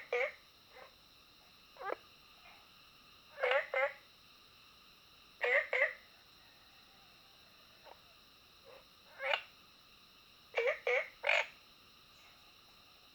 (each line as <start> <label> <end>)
0.0 Frogs chirping 4.3
5.4 Frogs chirping 13.1